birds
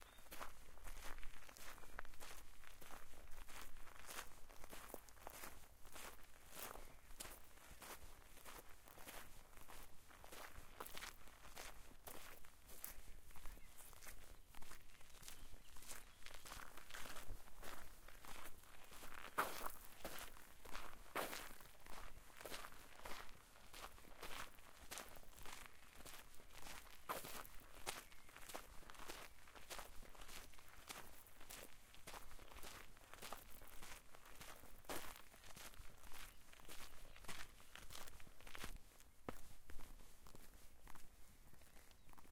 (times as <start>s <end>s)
0.0s 0.6s, 12.9s 16.8s, 27.0s 29.3s, 41.2s 42.3s